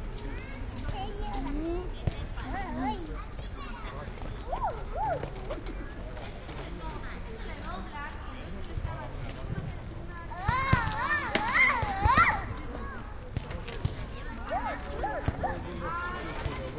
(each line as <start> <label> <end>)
4.4 children who play, run and scream 5.6
10.3 children who play, run and scream 13.0
14.3 children who play, run and scream 16.1